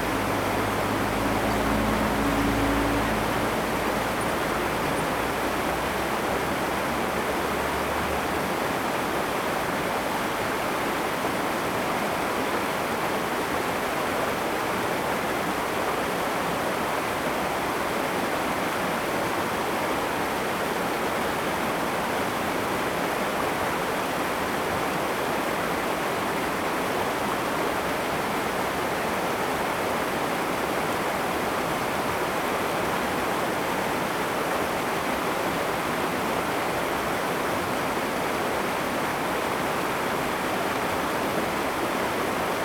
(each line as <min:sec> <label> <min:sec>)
0:00.0 Traffic Sound 0:08.2
0:00.0 Irrigation waterway 0:42.6